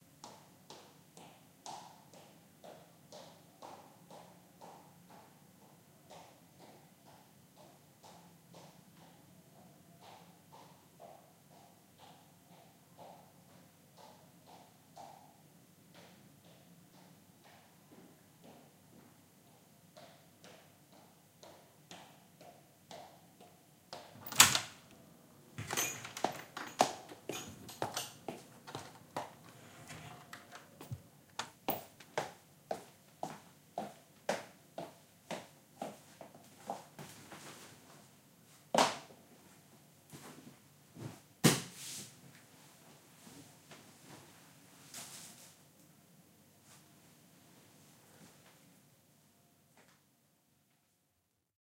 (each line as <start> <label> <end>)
24.2 Somebody open door 24.8
25.6 Somebody open door 31.7